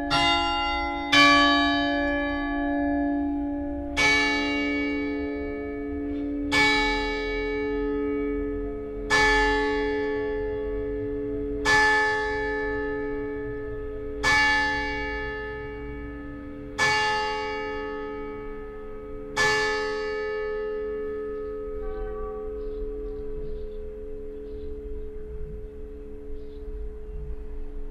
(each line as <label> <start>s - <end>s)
church bells 0.0s - 27.9s
distant signal horn of the train 21.8s - 22.5s